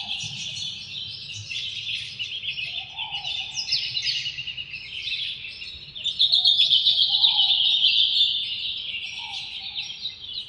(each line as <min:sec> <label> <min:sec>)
0:00.0 Dawn Birds 0:10.4